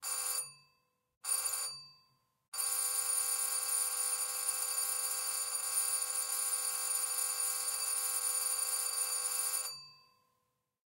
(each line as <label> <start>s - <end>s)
old doorbell ringing 7.2s - 10.0s